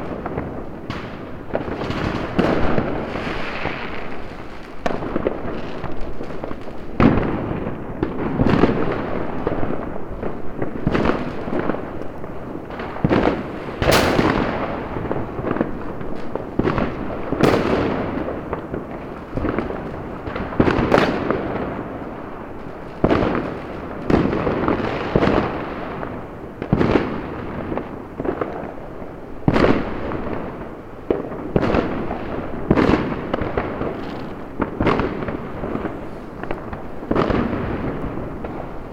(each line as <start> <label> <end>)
0.0 fireworks 38.9